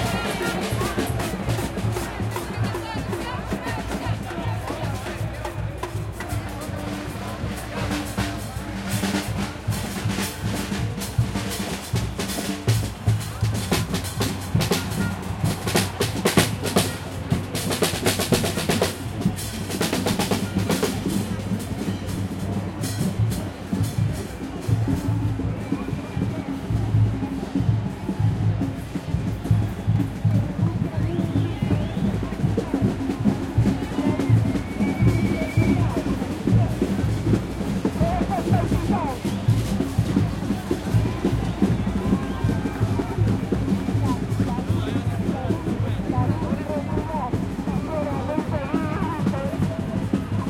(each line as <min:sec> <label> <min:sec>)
0:00.0 conversaciones 0:22.2
0:00.0 cencerros 0:25.8
0:00.0 crowd 0:50.4